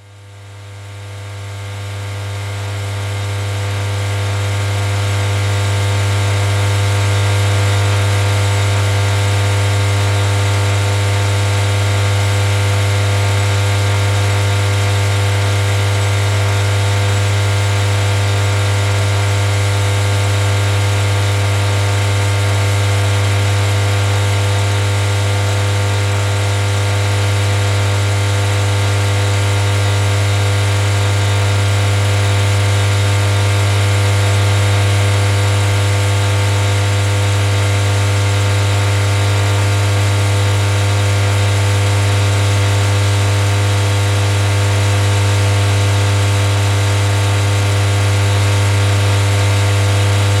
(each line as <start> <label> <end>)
0.0 humming electrical substation transformer box 41.8
42.5 humming electrical substation transformer box 50.4